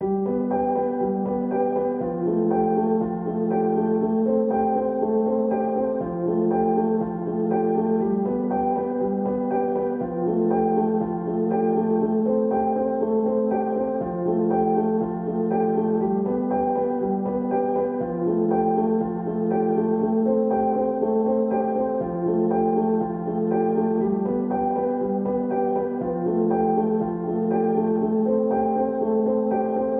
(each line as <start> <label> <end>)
0.0 piano 29.9